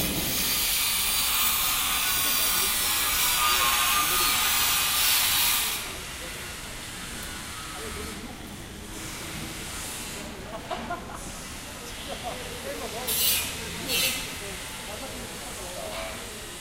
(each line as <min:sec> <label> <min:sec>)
0:00.0 angle-grinder 0:08.2
0:00.0 machines 0:16.6
0:01.7 People talking 0:04.8
0:05.6 People talking 0:16.6
0:12.9 angle-grinder 0:15.0